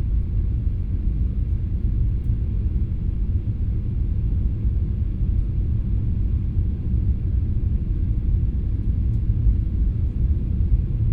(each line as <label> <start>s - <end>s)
hum of the engines 0.0s - 11.1s